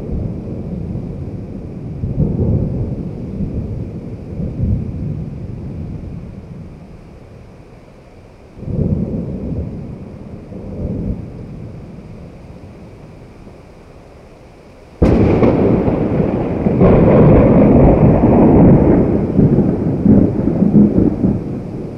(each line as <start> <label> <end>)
0.0 Thunder 6.7
0.0 rain 21.9
8.6 Thunder 12.9
15.0 Thunder 21.9